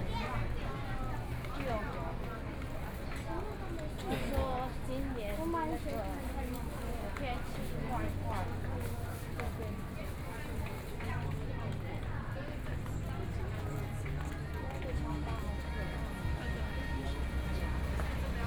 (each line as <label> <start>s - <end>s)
Various shops voices 0.0s - 18.4s
Walking through the Night Market 0.0s - 18.4s
Traffic Sound 11.0s - 18.4s